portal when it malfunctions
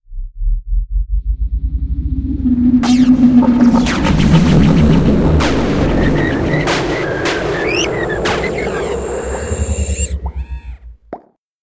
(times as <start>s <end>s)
2.0s 11.1s